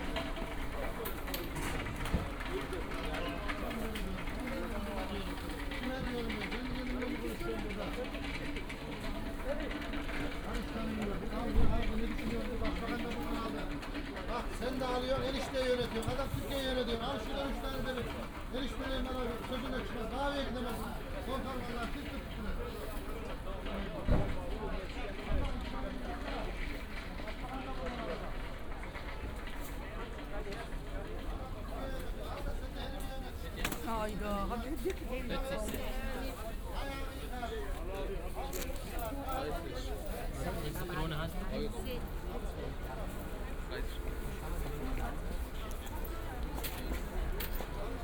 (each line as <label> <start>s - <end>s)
market ambience 0.0s - 48.0s